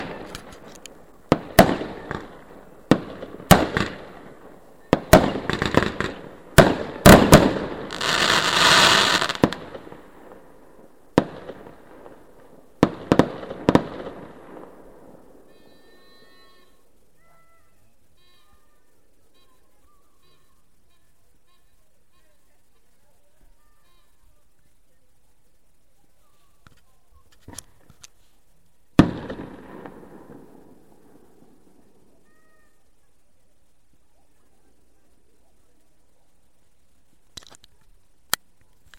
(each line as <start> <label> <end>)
0.0 Rockets were launched 10.4
0.0 crackling 38.9